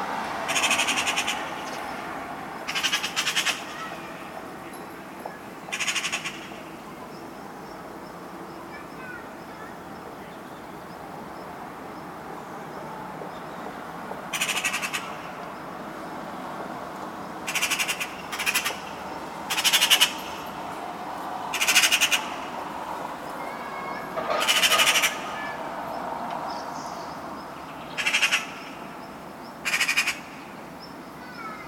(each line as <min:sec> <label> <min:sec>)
0:00.5 pretty loud Eurasian Magpie 0:01.8
0:02.6 pretty loud Eurasian Magpie 0:04.4
0:05.4 pretty loud Eurasian Magpie 0:10.8
0:14.3 pretty loud Eurasian Magpie 0:15.4
0:17.4 pretty loud Eurasian Magpie 0:20.6
0:21.5 pretty loud Eurasian Magpie 0:22.6
0:23.5 pretty loud Eurasian Magpie 0:25.8
0:26.5 pretty loud Eurasian Magpie 0:31.6